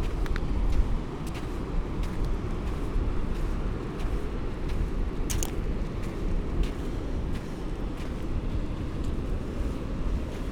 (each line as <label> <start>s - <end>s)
SEA 0.0s - 10.5s